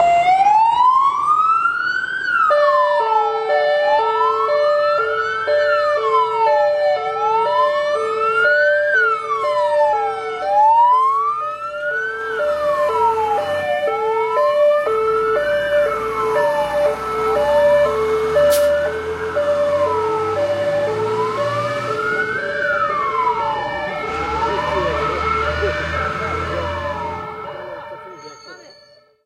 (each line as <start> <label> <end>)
0.0 siren of the fire truck 29.2